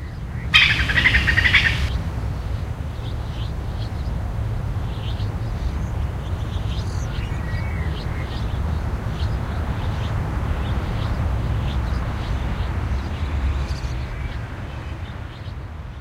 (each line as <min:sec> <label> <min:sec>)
0:00.5 squirrel chatter 0:01.9